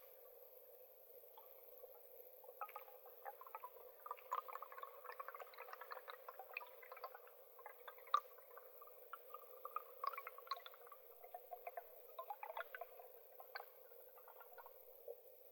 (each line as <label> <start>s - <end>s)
movements of waters on the bottom of the forest's lake 0.0s - 15.5s